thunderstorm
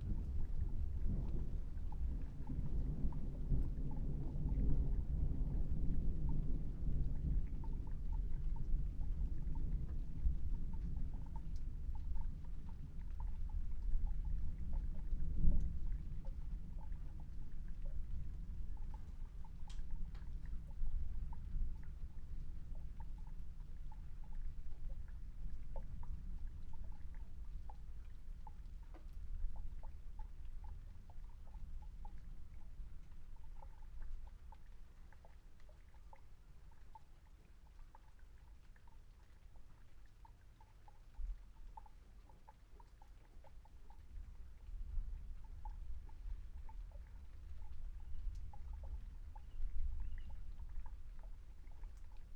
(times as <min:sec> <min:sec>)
0:00.0 0:27.6